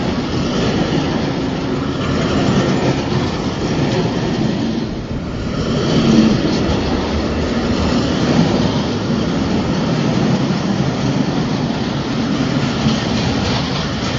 Freight train 0:00.0 - 0:14.1

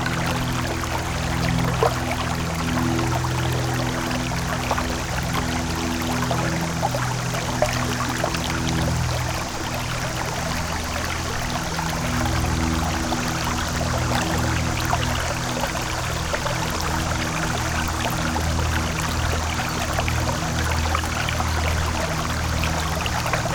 Aircraft hovered past 0:00.0 - 0:23.5
water 0:00.0 - 0:23.5

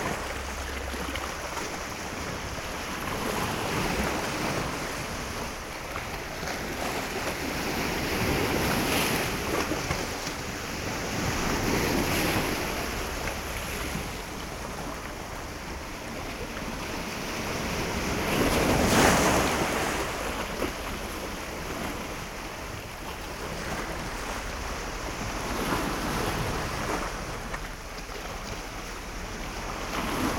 waves hitting rocks 0:00.0 - 0:30.3

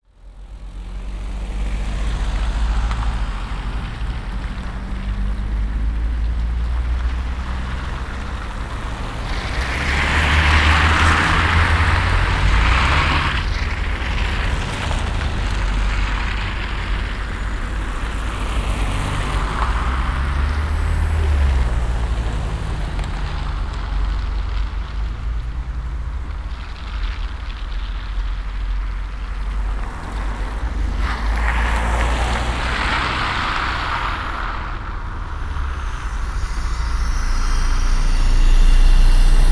spikes sticking to the road as cars pass by 0:00.5 - 0:39.5

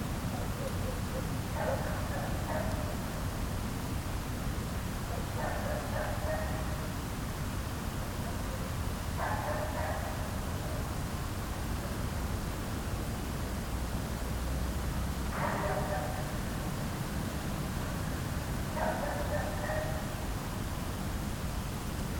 small dog is barking all night 0:00.2 - 0:03.3
small dog is barking all night 0:05.0 - 0:07.0
small dog is barking all night 0:08.2 - 0:11.0
small dog is barking all night 0:15.3 - 0:16.6
small dog is barking all night 0:18.7 - 0:20.3

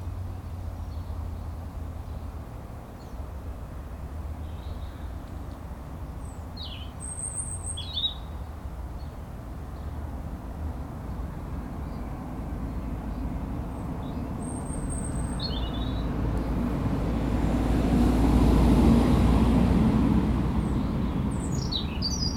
bird calls 0:06.2 - 0:09.2
bird calls 0:13.8 - 0:16.1
bird calls 0:20.6 - 0:22.3

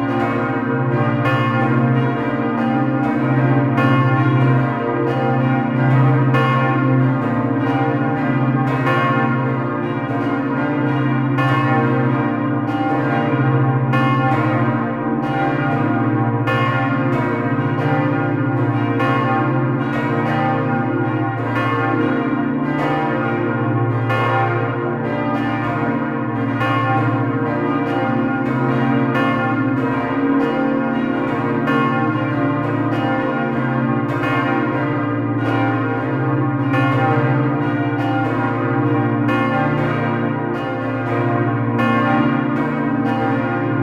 ringing of all the small bells 0:00.0 - 0:43.8

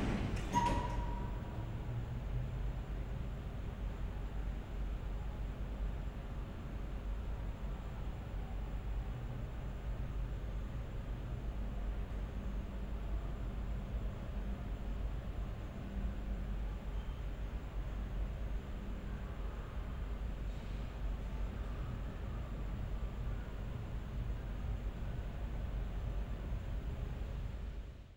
elevator 0:00.0 - 0:02.0
hum of air conditioner 0:00.0 - 0:28.1

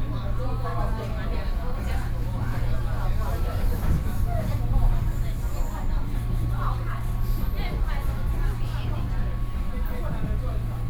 Trains 0:00.0 - 0:10.8

